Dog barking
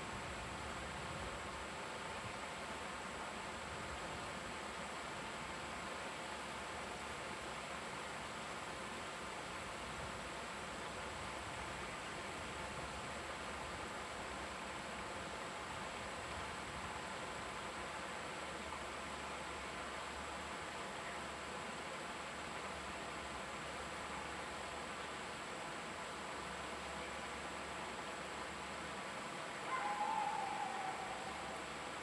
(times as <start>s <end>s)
29.7s 31.2s